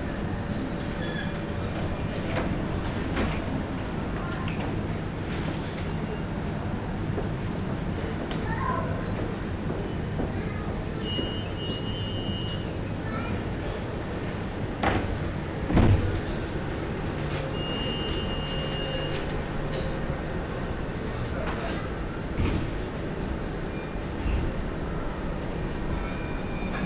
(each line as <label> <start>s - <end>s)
succession of tramway passages 0.0s - 26.8s